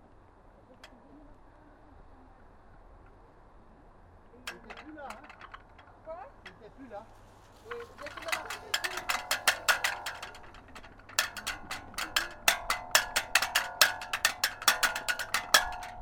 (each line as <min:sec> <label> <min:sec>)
0:00.0 flag in the wind 0:16.0